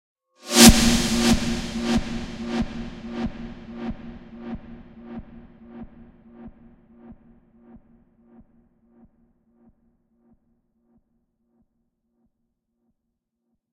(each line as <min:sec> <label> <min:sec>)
0:00.5 SnareInReverse 0:04.0